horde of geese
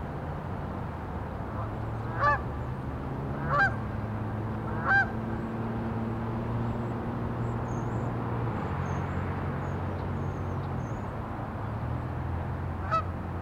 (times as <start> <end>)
1.6 2.4, 3.4 3.8, 4.7 5.1, 12.8 13.1